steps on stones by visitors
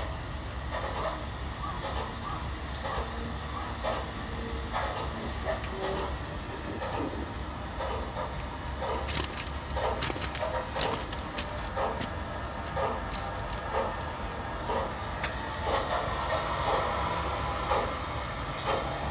8.4 14.2

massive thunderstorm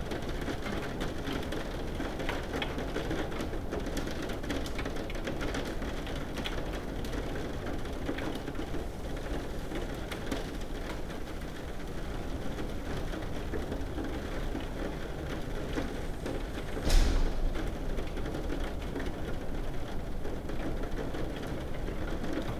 16.5 19.8

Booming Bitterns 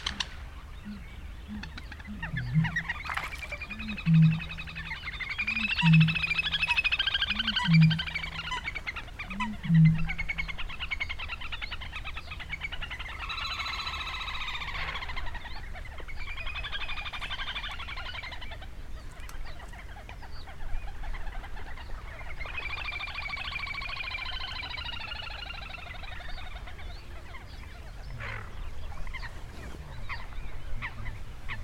0.0 1.0

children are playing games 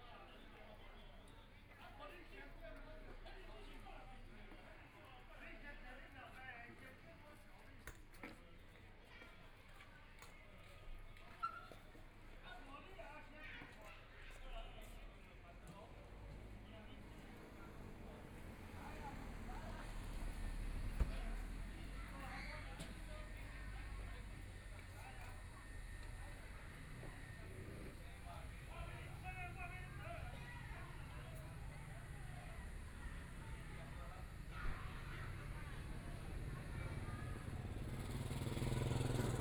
18.8 27.4, 28.0 39.4

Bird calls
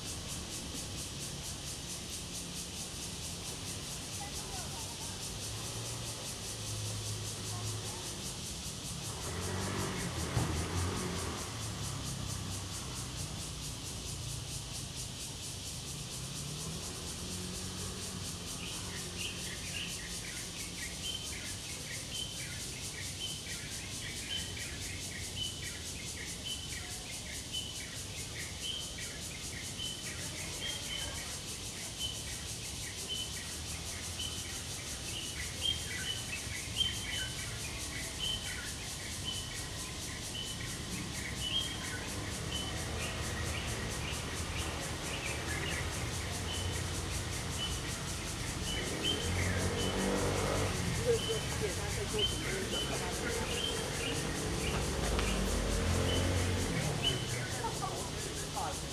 35.1 58.9

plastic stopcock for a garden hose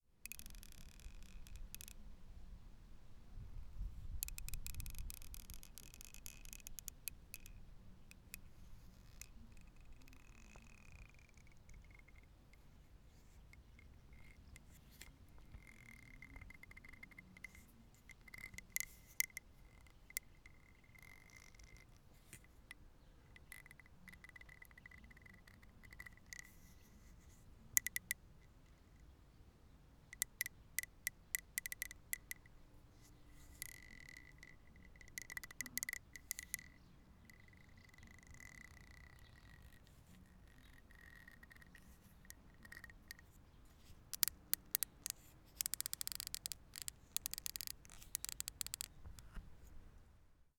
0.2 2.0, 4.2 8.5, 27.8 28.2, 30.2 32.4, 33.4 36.7, 40.7 49.5

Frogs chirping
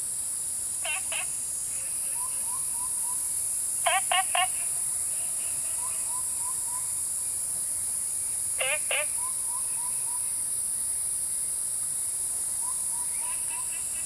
0.8 7.1, 8.5 10.4, 12.6 14.0

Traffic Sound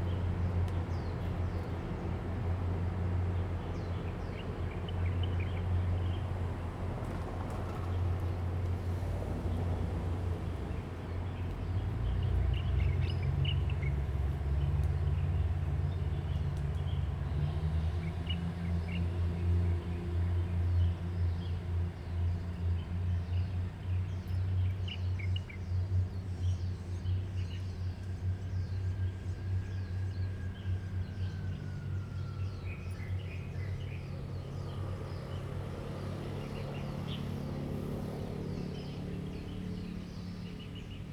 30.2 41.1

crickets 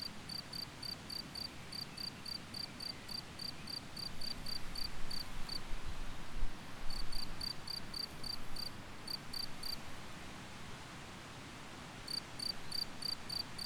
0.0 5.7, 6.8 9.9, 12.1 13.6

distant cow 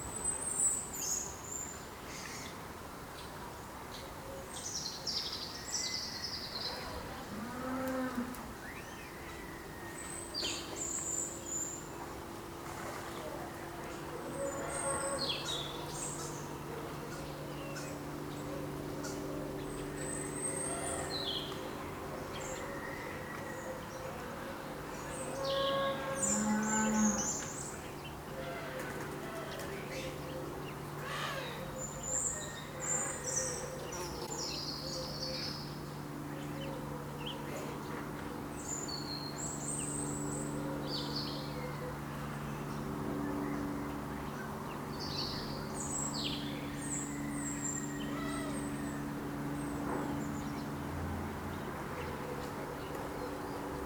25.4 27.4

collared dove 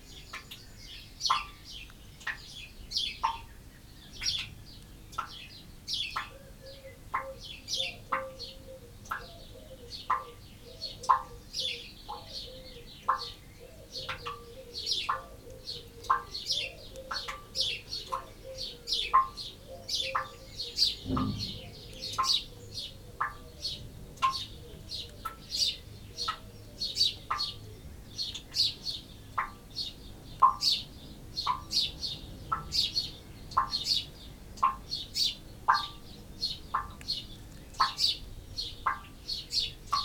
6.1 27.8

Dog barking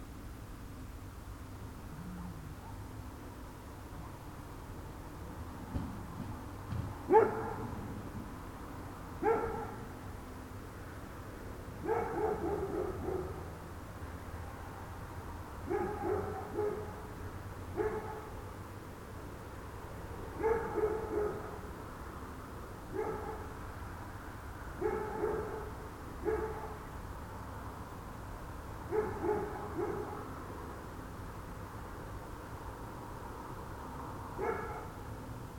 2.6 2.9, 7.1 7.8, 9.2 9.9, 11.8 13.5, 15.7 17.1, 17.8 18.4, 20.4 21.7, 22.9 23.6, 24.8 26.8, 28.9 30.3, 34.4 35.0

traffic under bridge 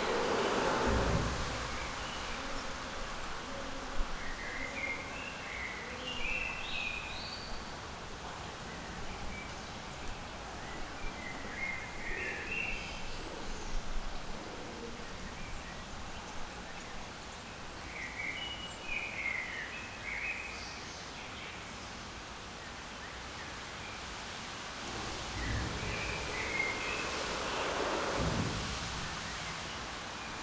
0.0 4.4, 24.5 30.4

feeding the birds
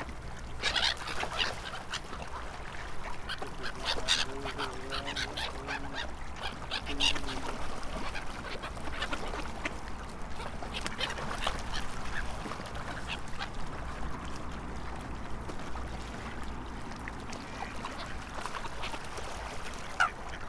0.5 9.8

